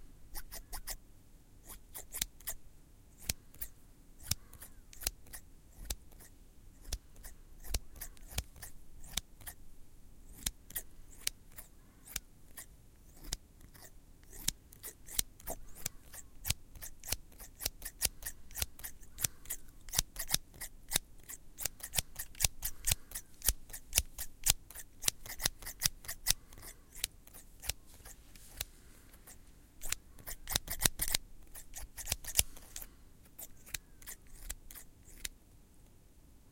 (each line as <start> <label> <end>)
0.4 scissor being opened and closed 1.0
1.6 scissor being opened and closed 2.6
3.2 scissor being opened and closed 9.6
10.3 scissor being opened and closed 35.4